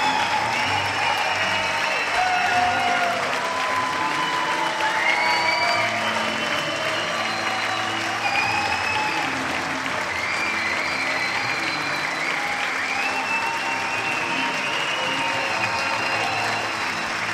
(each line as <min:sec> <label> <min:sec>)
0:00.0 standing ovation 0:17.3